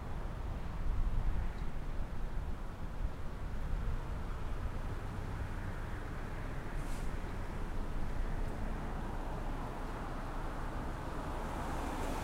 0.0s traffic 12.2s

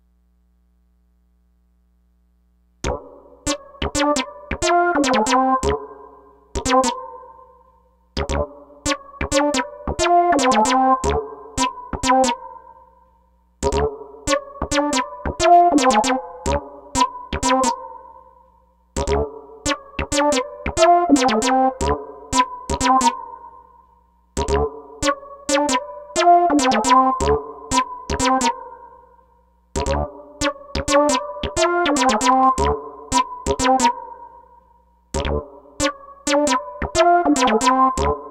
2.8s synth 7.6s
8.2s synth 12.8s
24.4s synth 29.2s
29.8s synth 34.6s
35.2s synth 38.3s

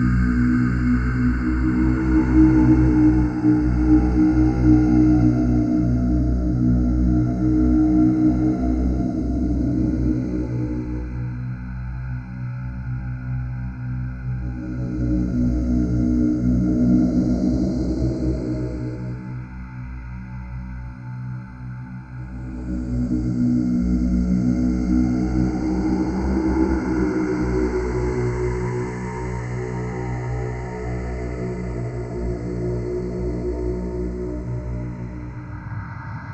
0.0s drone 36.3s

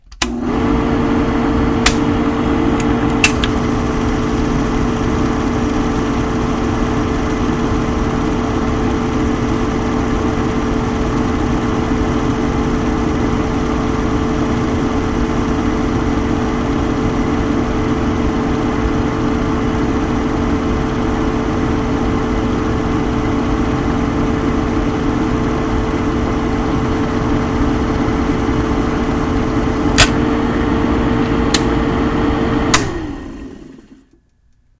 0.0s projector being turned on 34.3s
1.8s bulb being switched on 2.2s
2.7s film reel started 34.2s
2.8s bulb being switched on 3.6s
29.9s bulb being switched on 30.3s
31.2s bulb being switched on 31.9s
32.7s bulb being switched on 33.2s

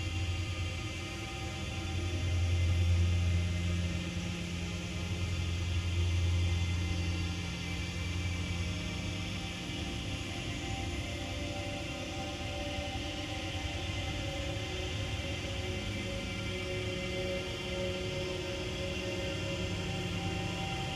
0.0s slowly evolving dreamy ambient drone pad 20.9s

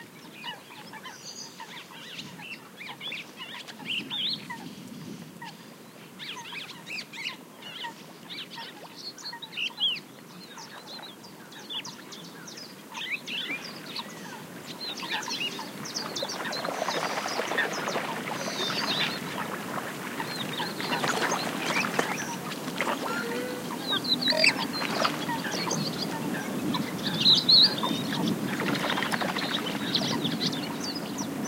14.0s waterfowl calls 31.0s

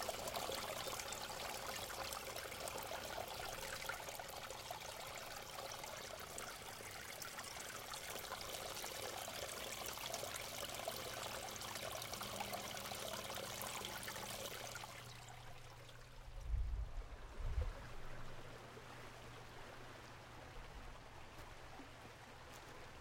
0.0s stream 23.0s

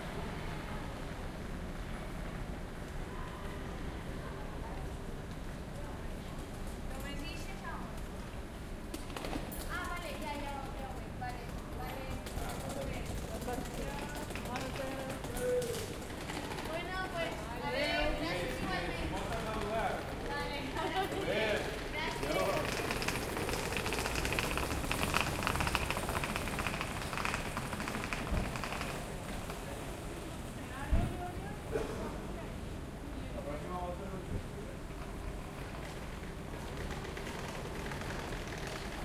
0.0s bus 6.9s
12.0s crowd 24.6s
34.2s Train 39.0s

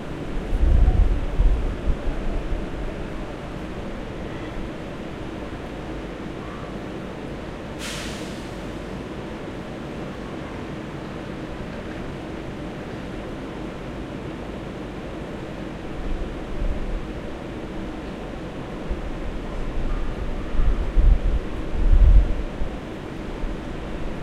0.0s arrival of an Airport Express Train 24.2s
0.0s departure of a local train 24.2s

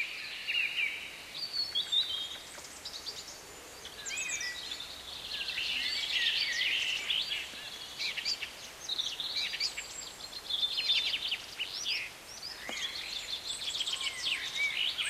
0.0s birdsong 15.0s

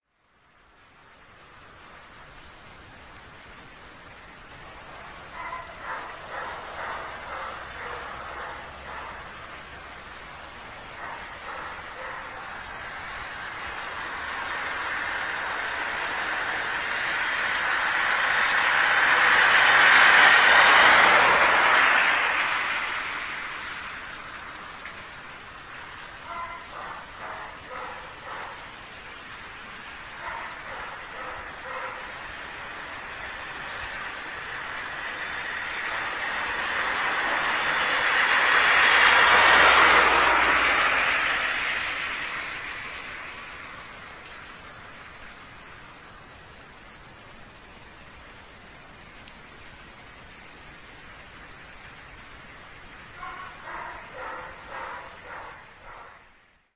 0.0s crickets 56.7s
4.1s passing by cars 56.7s

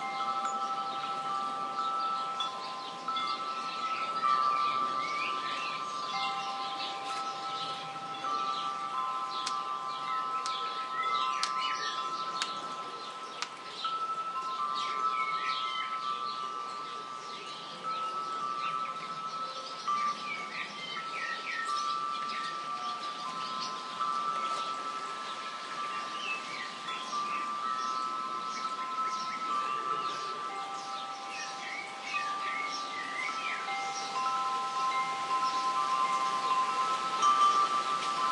0.0s Wind on chimes and tree 38.3s
0.0s birds singing in background 38.3s

